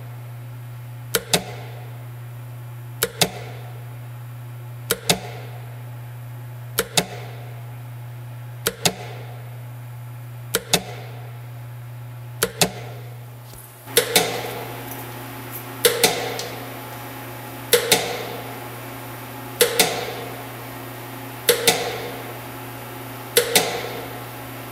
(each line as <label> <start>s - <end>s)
pump 13.6s - 18.7s